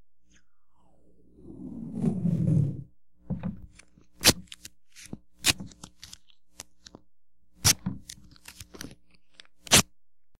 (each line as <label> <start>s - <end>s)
hollow thump 3.2s - 3.7s